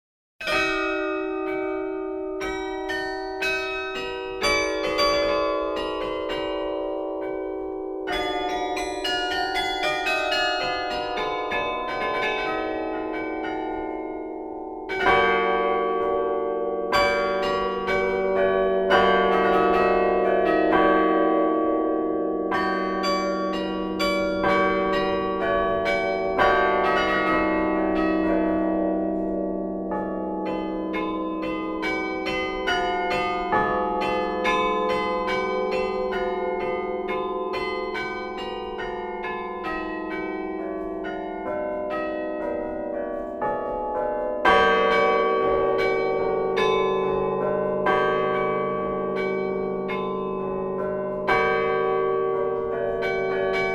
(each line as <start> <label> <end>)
0.4 carillon 53.7